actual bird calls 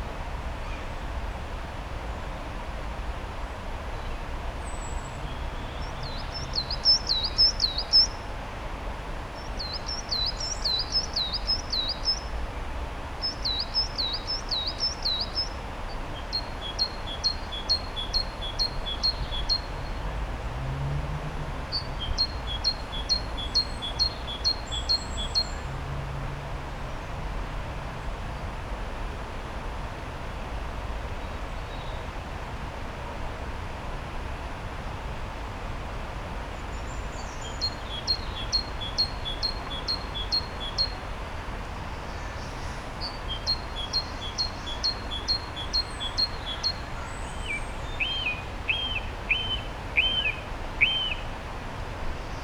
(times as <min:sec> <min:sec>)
0:37.2 0:41.0, 0:42.1 0:51.3